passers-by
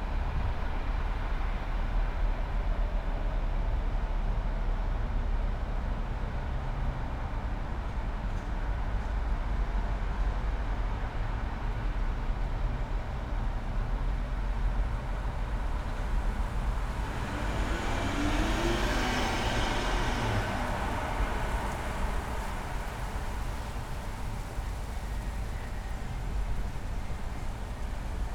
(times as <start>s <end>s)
13.5s 28.3s